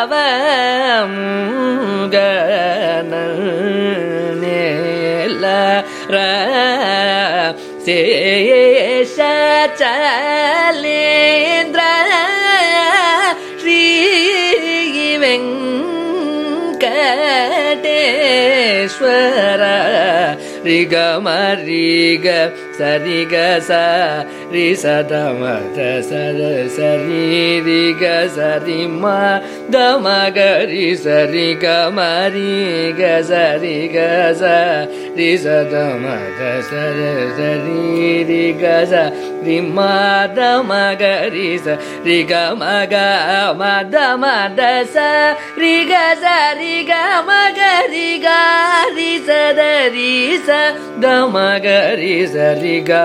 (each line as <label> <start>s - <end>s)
Carnatic varnam 0.0s - 53.0s